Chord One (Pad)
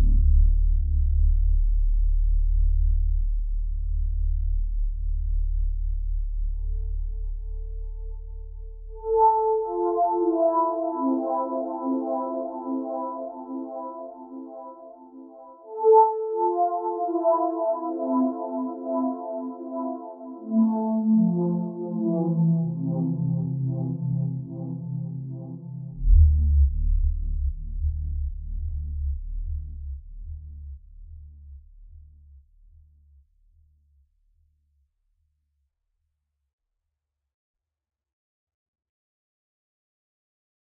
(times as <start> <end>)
9.0 26.0